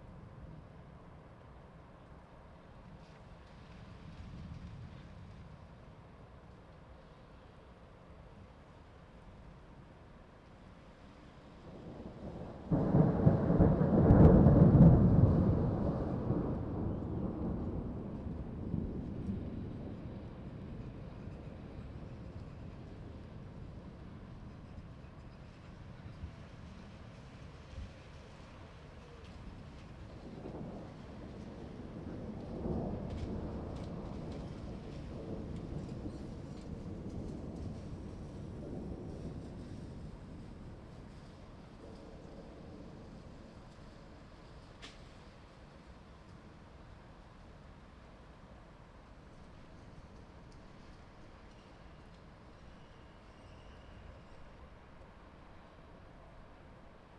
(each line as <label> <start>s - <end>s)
Thunderstorm 0.0s - 57.1s